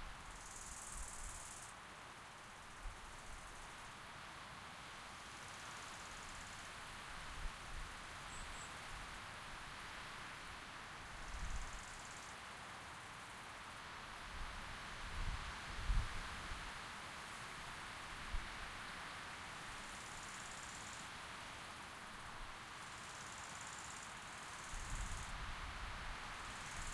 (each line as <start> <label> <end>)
0.0 wind in the autumn forest 26.9